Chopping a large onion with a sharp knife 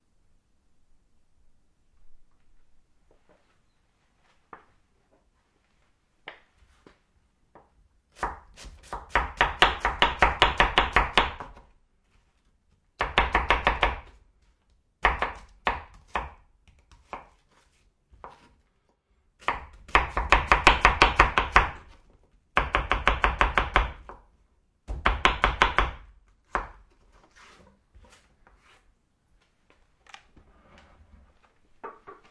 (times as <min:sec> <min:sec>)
0:08.2 0:11.6, 0:15.0 0:17.4, 0:19.4 0:22.0, 0:22.6 0:24.1